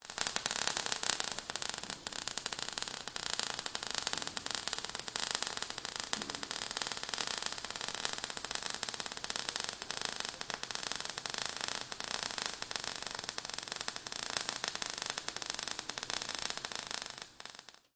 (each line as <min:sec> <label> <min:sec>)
0:00.0 welding torch heating the edge of a steel plate 0:17.9
0:03.6 heated particles popping off 0:12.9